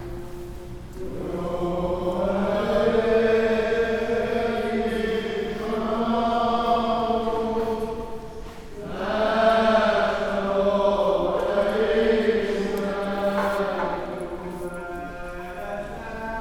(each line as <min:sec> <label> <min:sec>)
0:00.0 singing at the church door 0:16.4